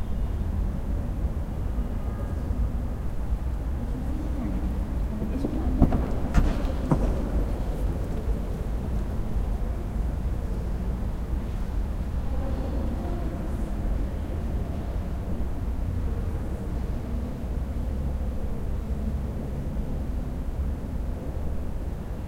Traffic 0:00.0 - 0:22.2

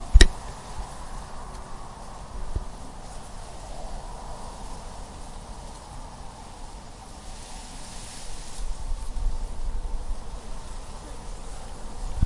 wind running between the leaves 0:00.0 - 0:12.2

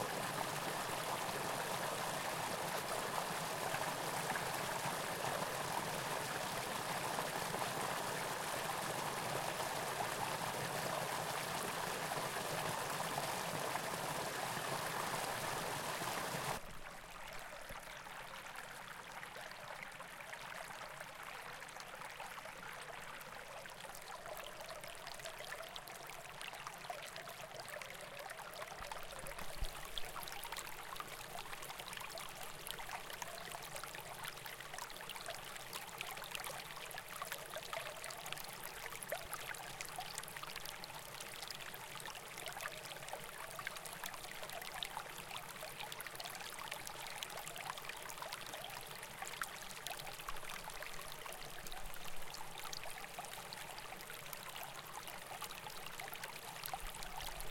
small brook 0:00.0 - 0:57.5

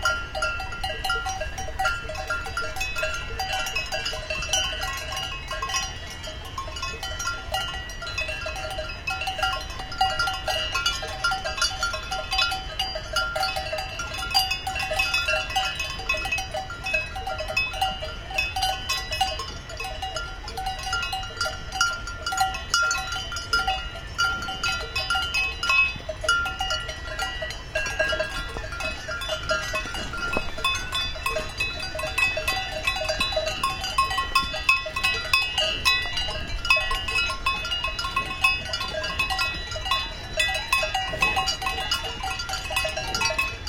Cowbells 0:00.0 - 0:43.6
Herd of Cows 0:00.0 - 0:43.6

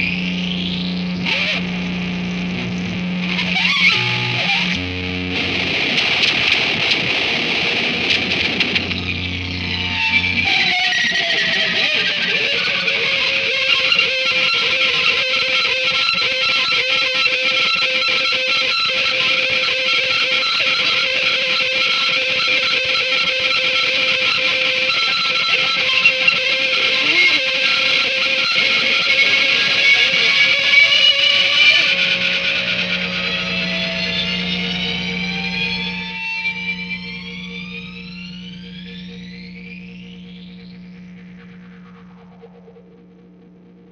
guitar 0:00.0 - 0:43.9

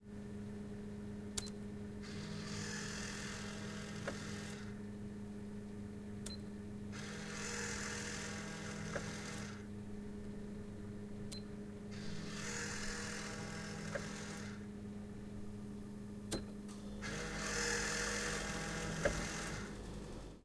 Food machine operating 0:02.0 - 0:04.8
Food machine operating 0:07.0 - 0:09.7
Food machine operating 0:11.9 - 0:14.7
Food machine operating 0:16.8 - 0:20.4

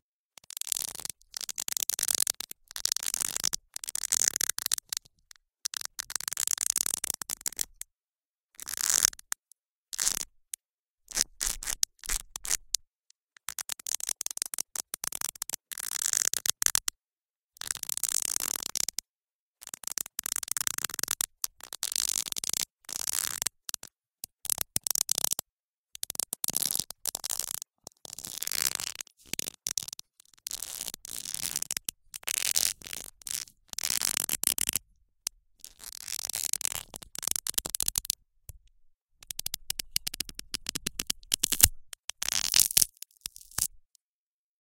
iced-lolly sticks pressed against and broke 0:39.8 - 0:43.7

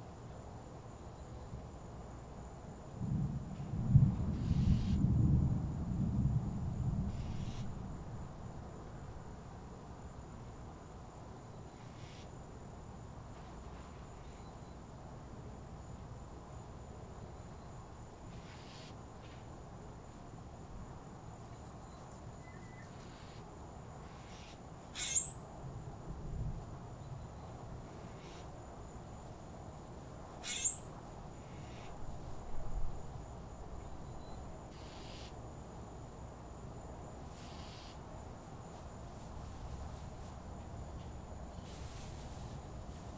rain 0:03.0 - 0:07.1
thunder 0:03.0 - 0:08.0

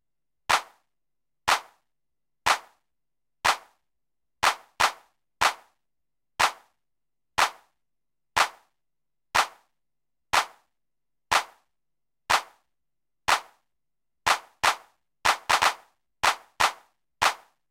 clap 0:00.5 - 0:00.9
clap 0:01.5 - 0:05.8
clap 0:06.4 - 0:06.8
clap 0:07.4 - 0:07.8
clap 0:08.4 - 0:08.8
clap 0:09.4 - 0:12.7
clap 0:13.3 - 0:17.7

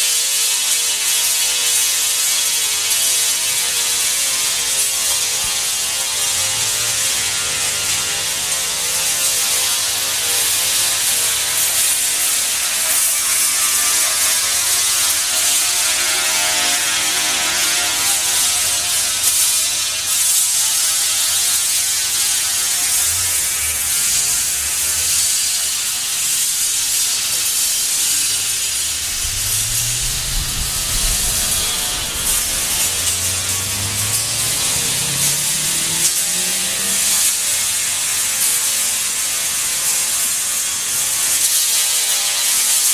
Sounding Sculpture 0:27.8 - 0:37.4

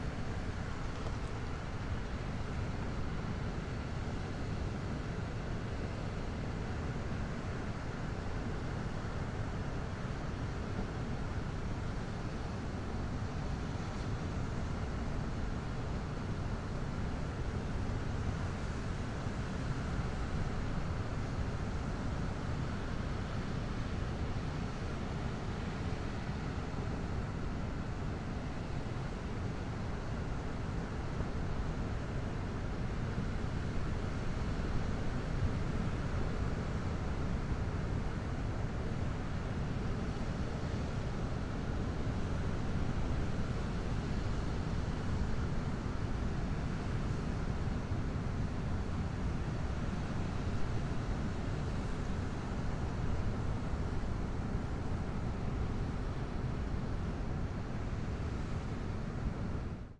ocean 0:00.0 - 0:59.9

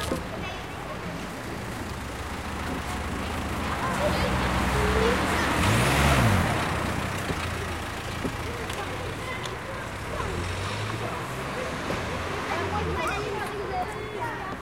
car drives past 0:02.0 - 0:13.6

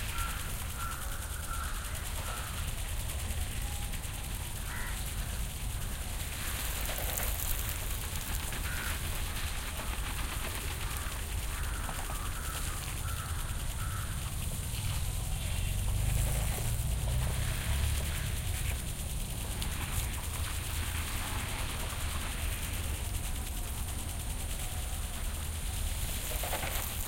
sprinklers watering the palmtrees 0:00.0 - 0:27.0

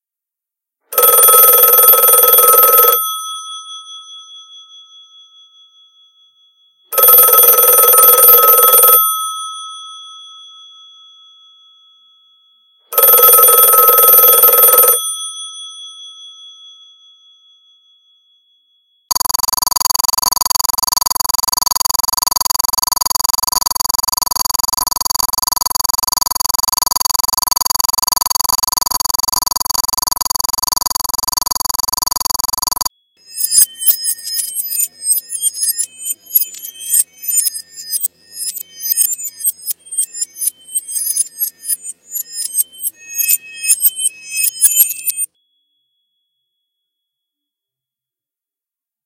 Dial 0:00.9 - 0:03.2
Dial 0:06.9 - 0:09.3
Dial 0:12.9 - 0:15.1
Dial 0:19.1 - 0:45.3

